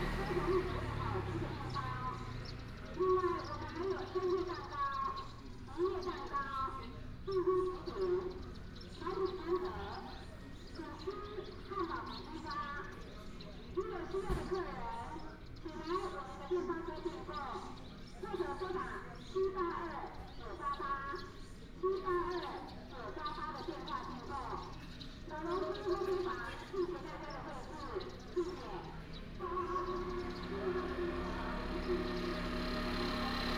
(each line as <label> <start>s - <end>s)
Bird cry 0.0s - 33.5s
traffic sound 0.0s - 33.5s